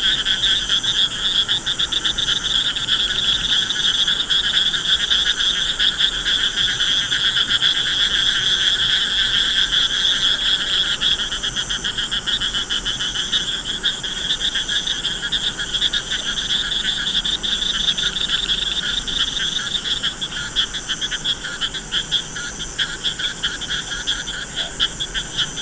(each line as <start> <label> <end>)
0.0 frogs 25.6